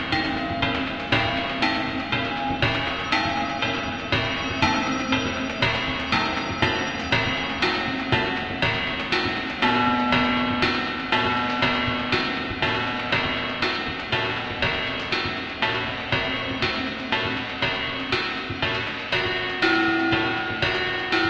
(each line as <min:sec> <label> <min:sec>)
0:00.0 drone 0:21.2
0:00.0 synthetic drum beat 0:21.2